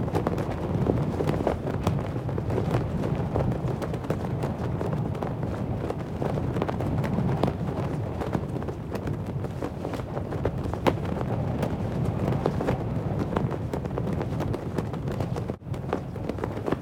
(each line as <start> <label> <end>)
0.0 Flag waving in the wind 16.8